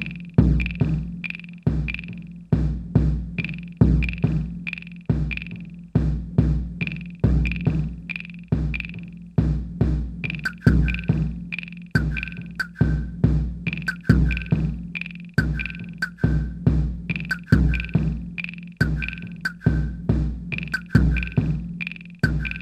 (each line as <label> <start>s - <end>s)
drumcomputer 0.0s - 22.6s